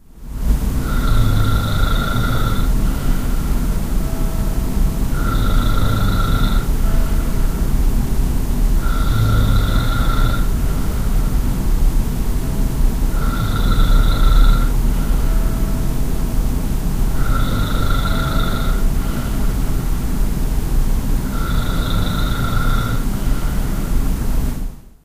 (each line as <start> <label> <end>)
1.0 breath 3.7
3.4 churchbell 8.0
14.7 churchbell 20.0
18.2 breath 19.7
22.9 breath 24.1